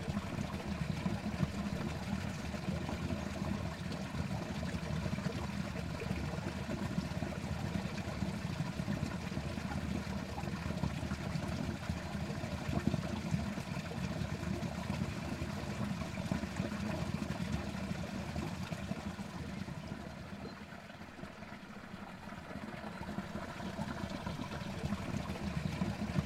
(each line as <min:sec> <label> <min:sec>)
0:00.0 stream running under farm 0:26.2